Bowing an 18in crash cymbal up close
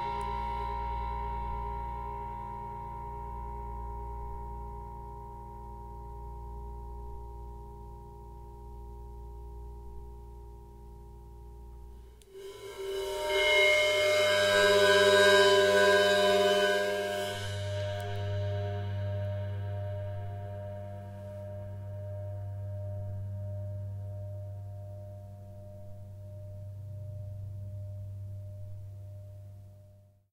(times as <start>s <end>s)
0.0s 5.1s, 11.9s 29.6s